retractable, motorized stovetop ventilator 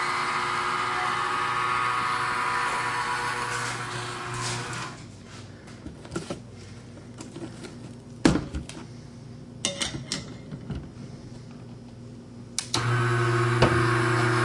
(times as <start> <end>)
0.0 5.1, 12.6 14.4